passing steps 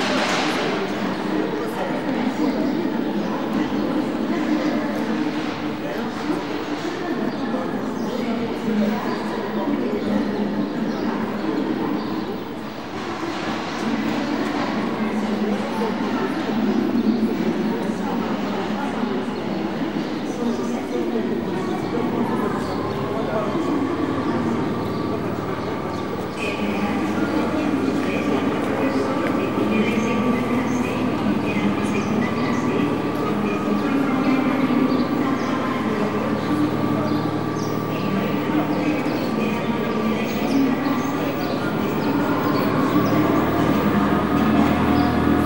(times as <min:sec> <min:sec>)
0:21.0 0:45.4